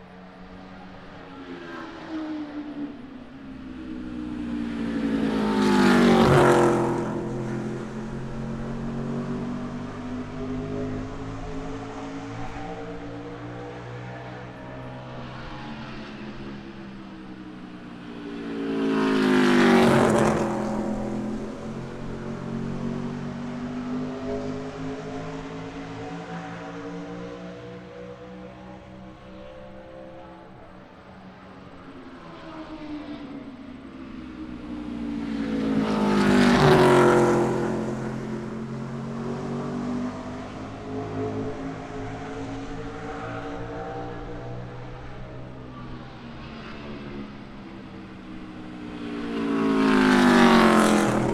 stock cars taking practice laps 0.0 - 51.3

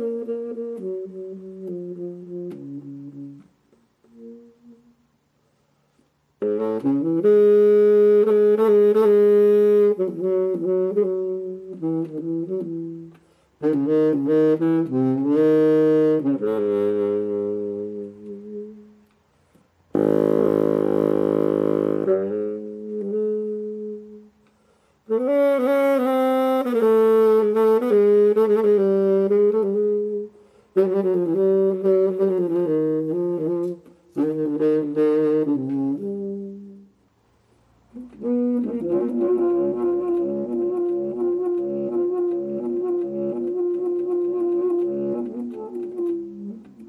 bass sax solo 0.0 - 19.2
bass sax solo 19.8 - 46.8

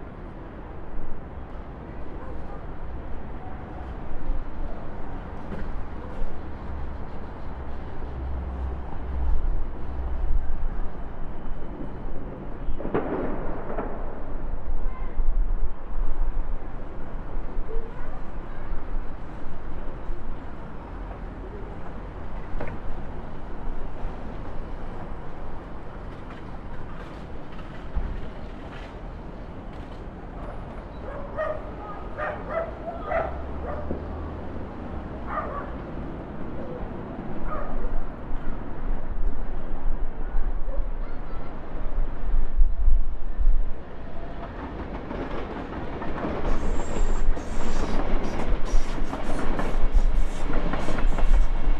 trains 0.0 - 51.7
Fireworks 11.7 - 15.1

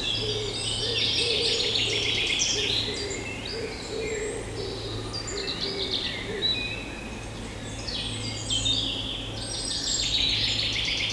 Blackbird 0.0 - 7.1

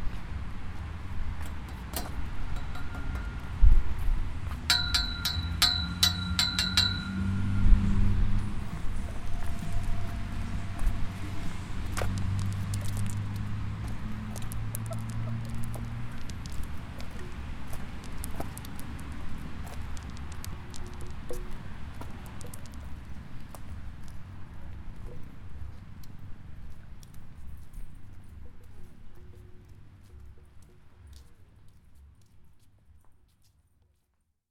Playing with sound sculptures 1.4 - 8.2

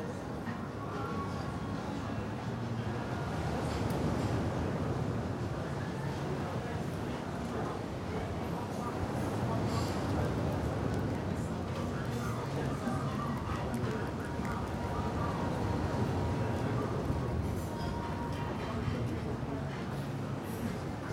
lively background noise of a restaurant 0.0 - 21.1

